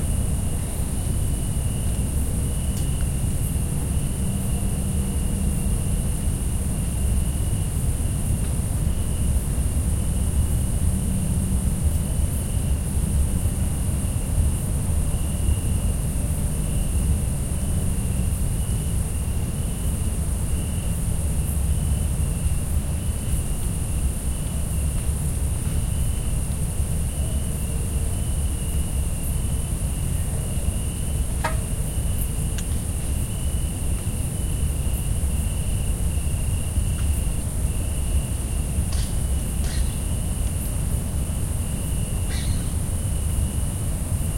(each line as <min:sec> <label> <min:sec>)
0:00.0 cicadas 0:44.3
0:00.0 crickets 0:44.3